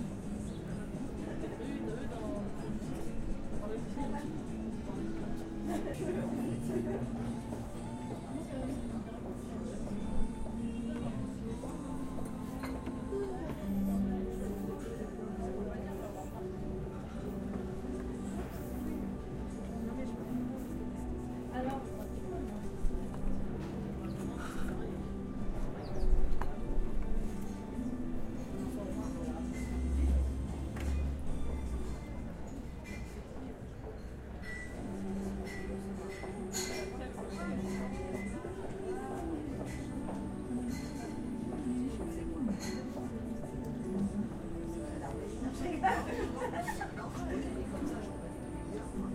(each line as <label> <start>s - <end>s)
voices 34.9s - 49.1s